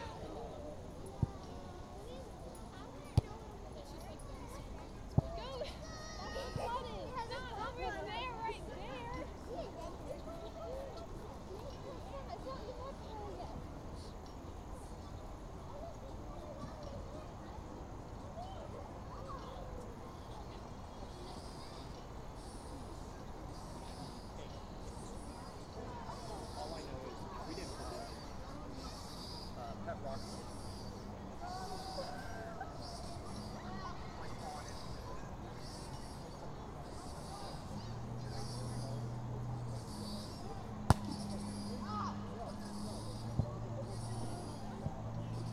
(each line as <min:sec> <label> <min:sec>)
0:00.0 older children kicking around a soccer ball 0:14.4
0:00.0 kids on the playground swing set 0:45.5
0:00.0 people were out walking 0:45.5
0:40.6 older children kicking around a soccer ball 0:45.5